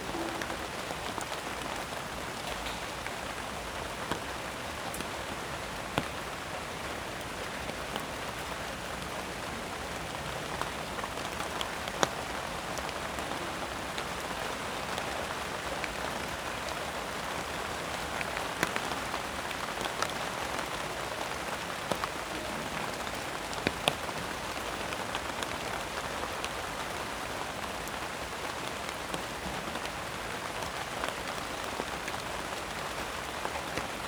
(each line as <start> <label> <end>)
0.0 rain falls onto knotweed leaves 34.0